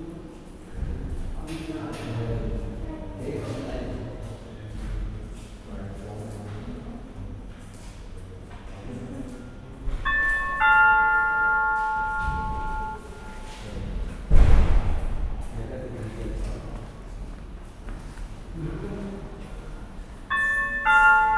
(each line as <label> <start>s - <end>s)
People walk or shuffle up and down 0.2s - 21.3s
loud, but friendly, electronic 'ding dong' 10.0s - 13.6s
doors open and close mysteriously with a thump 14.3s - 15.5s
loud, but friendly, electronic 'ding dong' 20.3s - 21.3s